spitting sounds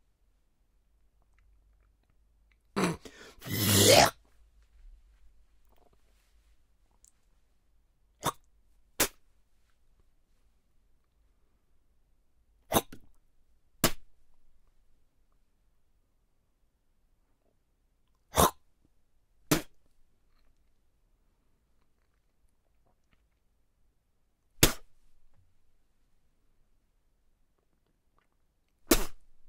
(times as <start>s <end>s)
2.8s 4.2s, 12.7s 13.0s